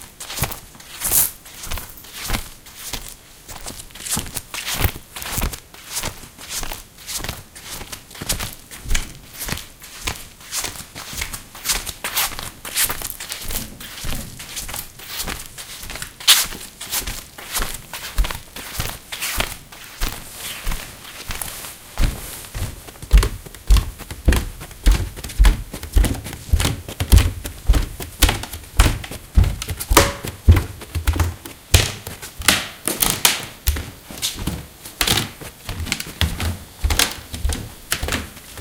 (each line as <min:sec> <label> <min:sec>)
0:00.0 background noise 0:38.6
0:00.0 clothes 0:38.6
0:00.0 walking around on tatami and wooden floors 0:38.6
0:20.4 handling noises 0:38.6